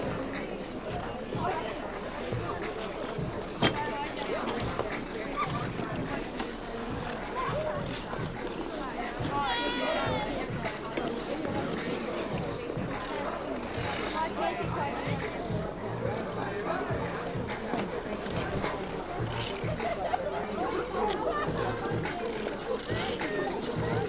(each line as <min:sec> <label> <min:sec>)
0:00.0 Ice-skaters on a temporary outdoor ice-rink 0:24.0